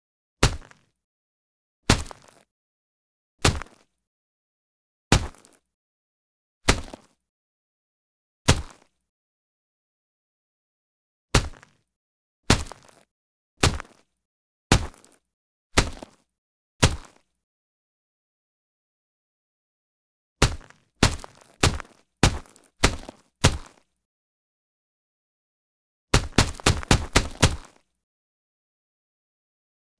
raptor footsteps 20.4 - 23.7
raptor footsteps 26.2 - 27.7

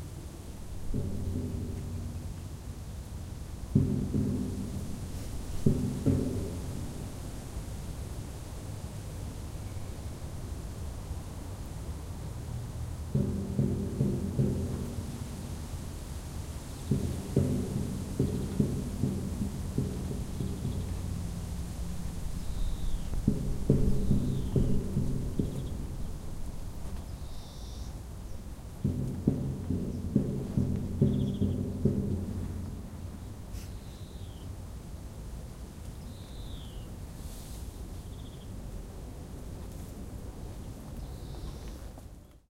football team supporters drumming 3.7 - 7.5
football team supporters drumming 13.1 - 16.0
birds 16.8 - 21.4
football team supporters drumming 16.8 - 26.9
birds 22.3 - 26.3
birds 26.9 - 34.6
football team supporters drumming 28.8 - 33.4
swoosh of leaves 33.1 - 34.3
swoosh of leaves 35.8 - 42.0
birds 35.9 - 37.0
birds 38.0 - 38.5
birds 40.9 - 42.4

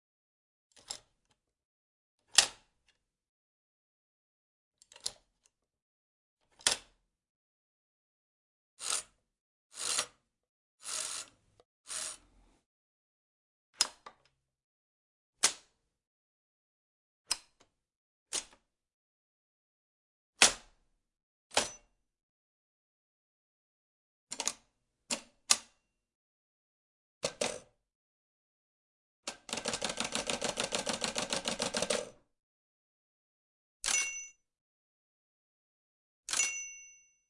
operating an older typewriter 29.3 - 32.1

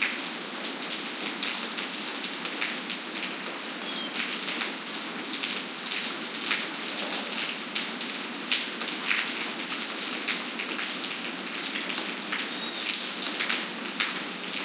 rain on pavement 0.0 - 14.6
bird callings 3.8 - 4.5
bird callings 12.4 - 13.0

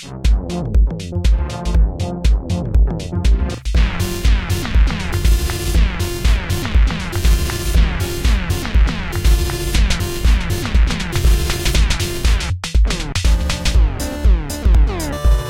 beat 0.0 - 15.4

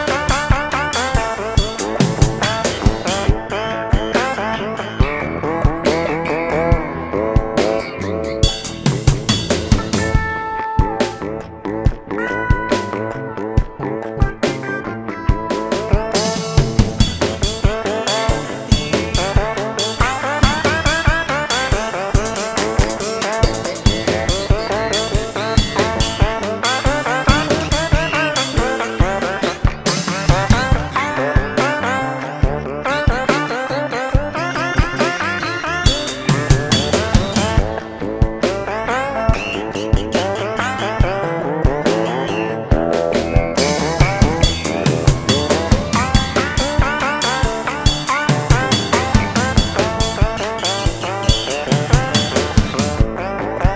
Bass 0.0 - 53.7
Drums 0.0 - 53.7
Guitar 0.0 - 53.7
Synthesizer 0.0 - 53.7

